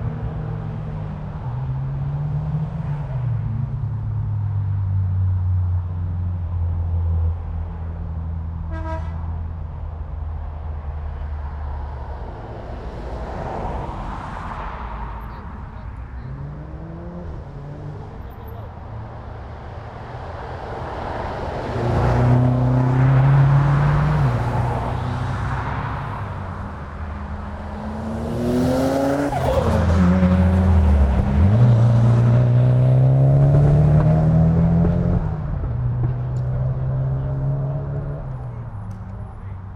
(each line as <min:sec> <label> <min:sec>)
0:00.0 Street Car Racing 0:39.7
0:00.0 vans, buses and trucks 0:39.7